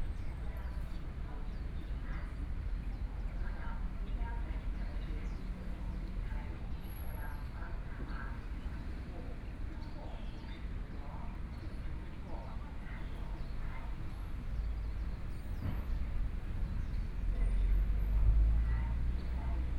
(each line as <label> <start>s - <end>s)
Birdsong sound 12.9s - 19.4s
Traffic Sound 13.1s - 19.7s